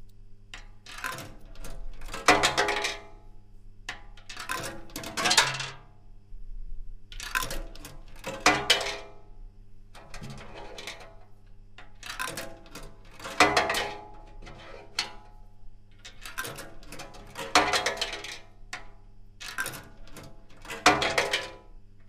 0.6s Coffee Vending Machine 5.9s
7.1s Coffee Vending Machine 9.3s
10.0s Coffee Vending Machine 22.0s

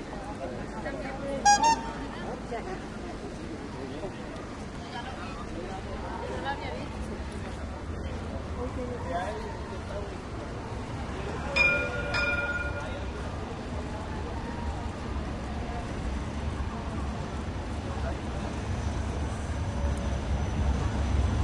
0.0s streetnoise 21.4s
0.0s tramway rumbling 21.4s
11.5s ringing bells 13.2s

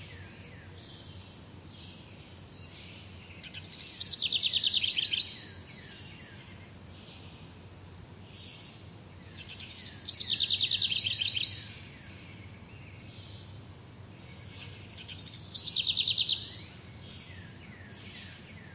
0.0s forest birds 18.7s

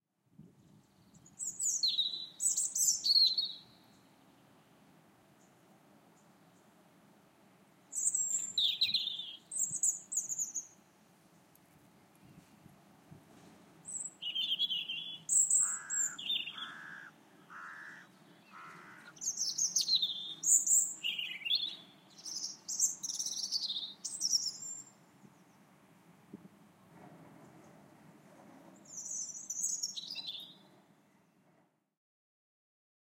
15.5s crow 19.2s

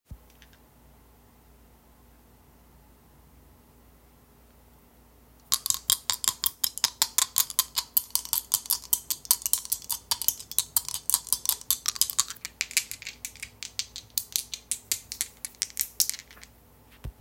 5.5s Shaking 2 dice closed and open handed 16.5s

